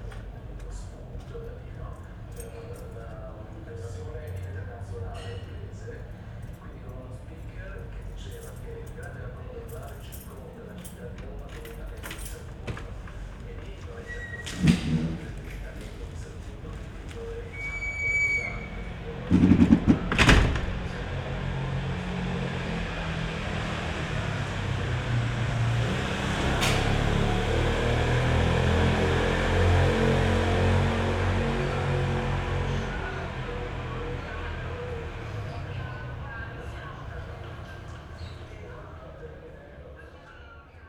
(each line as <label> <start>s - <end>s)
TV through an open window 0.0s - 40.8s
enters a door 11.0s - 24.1s
enters a door 25.8s - 29.8s